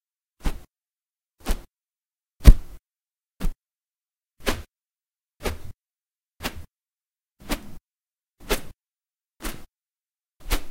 swishes with feather 0:00.4 - 0:00.7
swishes with feather 0:01.4 - 0:01.7
swishes with feather 0:02.4 - 0:02.8
swishes with feather 0:04.4 - 0:04.7
swishes with feather 0:05.4 - 0:05.8
swishes with feather 0:06.4 - 0:06.7
swishes with feather 0:07.4 - 0:07.8
swishes with feather 0:08.4 - 0:08.8
swishes with feather 0:09.4 - 0:09.7
swishes with feather 0:10.4 - 0:10.7

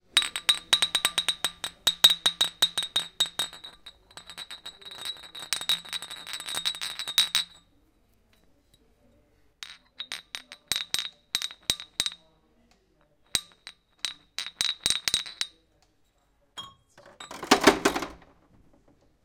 Glass bottles dinging 0:00.0 - 0:07.6
Glass bottles dinging 0:09.6 - 0:12.2
Glass bottles dinging 0:13.3 - 0:15.6
Glass bottles dinging 0:16.6 - 0:18.1

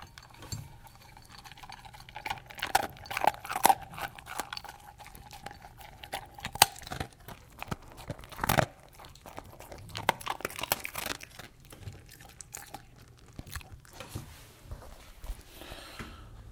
Medium size dog eating from dish 0:00.0 - 0:15.0

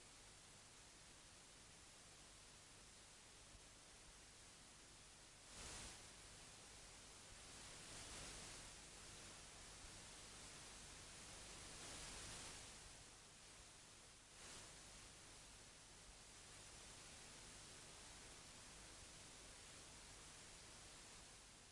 whoosh from a magnetic tape 0:05.5 - 0:06.1
whoosh from a magnetic tape 0:14.3 - 0:15.0

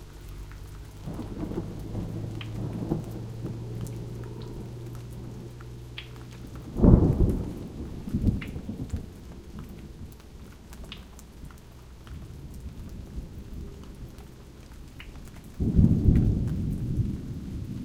Gentle Rain Trickle 0:00.0 - 0:17.8
Thunder 0:01.0 - 0:10.1
Thunder 0:15.6 - 0:17.8

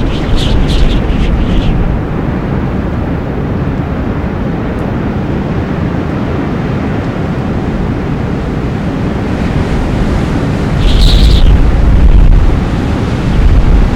wind 0:00.0 - 0:13.9

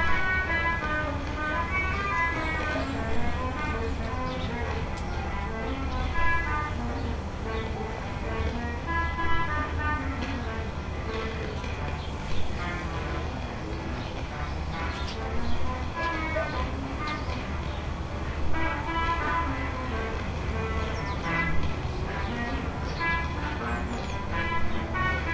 radio music 0:00.0 - 0:25.3
people 0:09.8 - 0:25.3
radio noise 0:15.0 - 0:17.5

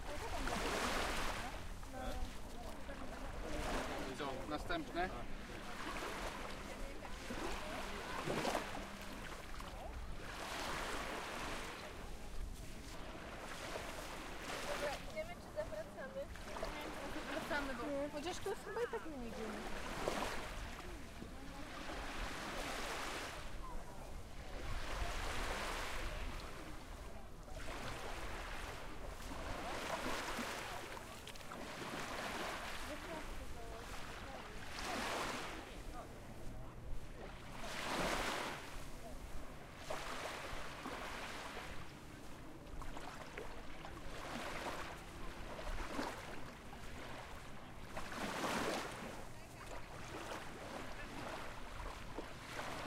Walking on the beach 0:00.0 - 0:52.8
waves 0:00.0 - 0:52.8
Voices of children laughing 0:18.6 - 0:19.2

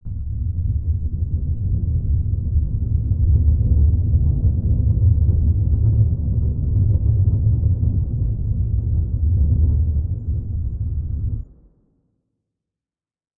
sub bass 0:00.0 - 0:11.5

